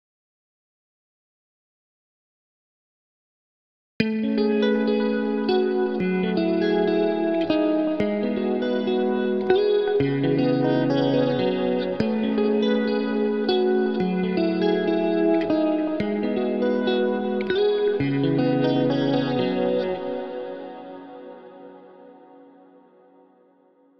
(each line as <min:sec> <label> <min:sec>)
0:04.0 electric guitar 0:23.4